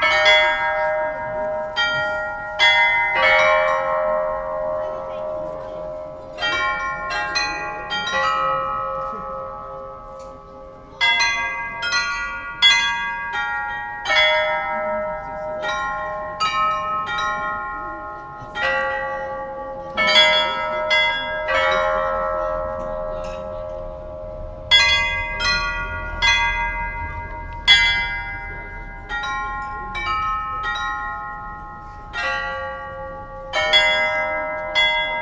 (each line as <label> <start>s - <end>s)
Astronomical clock 0.0s - 35.2s